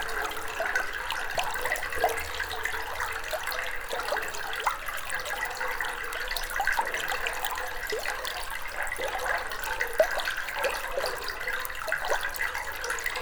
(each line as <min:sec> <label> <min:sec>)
0:00.0 water is quietly flowing 0:13.2